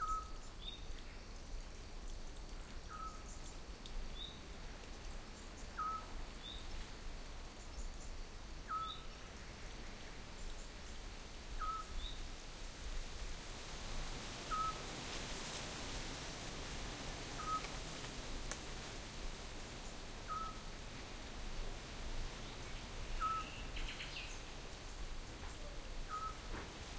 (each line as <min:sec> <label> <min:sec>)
0:00.0 wind 0:26.9
0:14.4 distant streams 0:15.6
0:16.2 distant streams 0:26.9
0:17.4 distant frogs 0:17.8
0:20.2 distant frogs 0:20.7